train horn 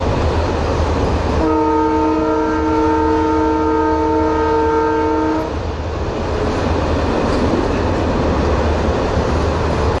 1.4s 5.6s

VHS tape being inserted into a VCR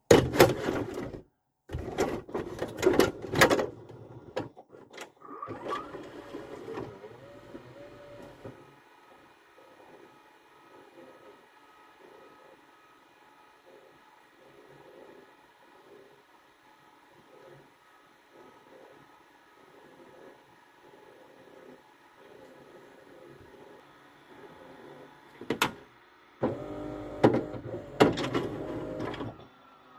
1.8s 8.8s, 24.7s 29.6s

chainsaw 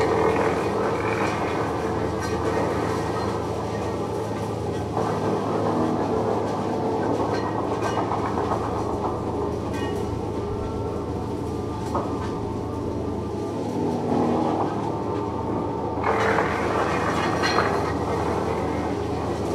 0.0s 4.4s, 16.0s 19.5s

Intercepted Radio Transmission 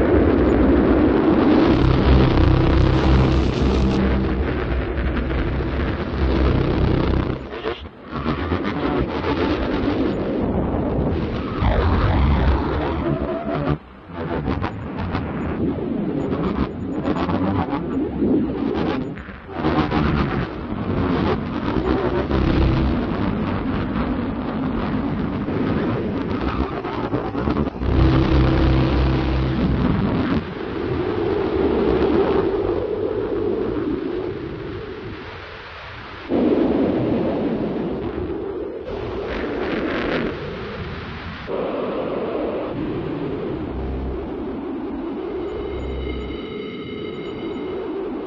1.5s 10.2s

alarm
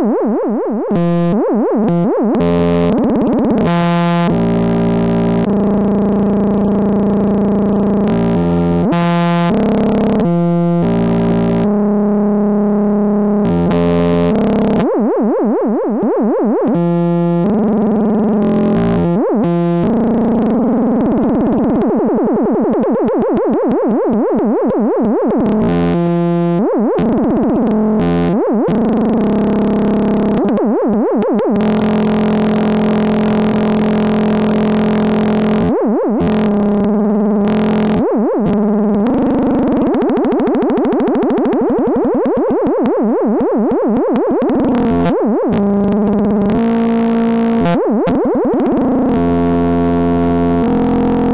0.9s 3.0s

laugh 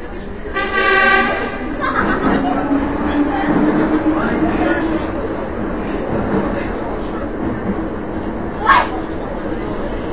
1.7s 2.8s

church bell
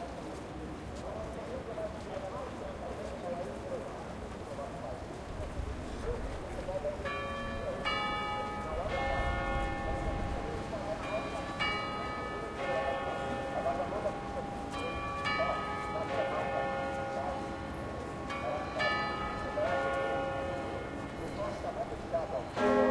6.7s 22.9s

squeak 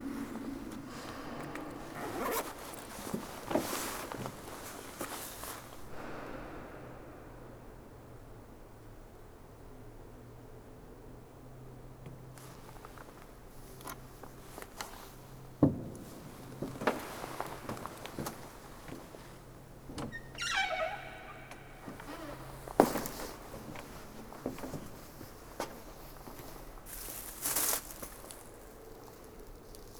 20.1s 22.7s

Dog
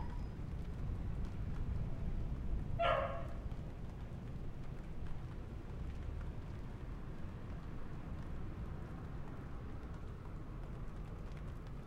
2.8s 3.4s

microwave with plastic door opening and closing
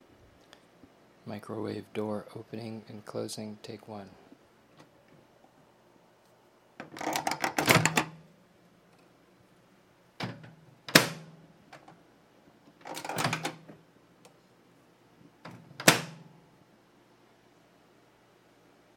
6.8s 8.2s, 10.2s 11.9s, 12.8s 13.8s, 15.4s 16.3s

